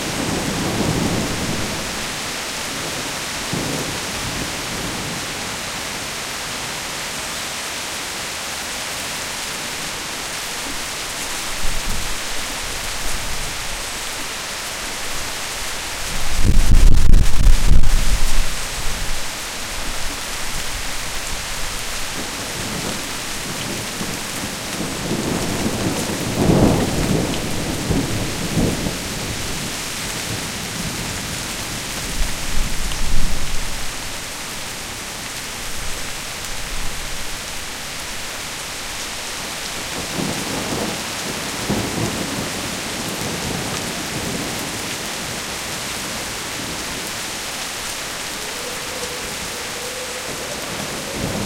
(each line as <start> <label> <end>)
0.0 thunderstorm 5.6
15.9 thunderstorm 19.2
21.9 thunderstorm 33.9
39.8 thunderstorm 47.0
48.4 thunderstorm 51.4